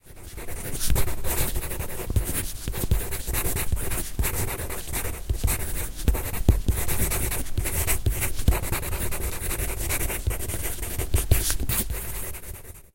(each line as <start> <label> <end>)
0.0 pencil on paper 12.9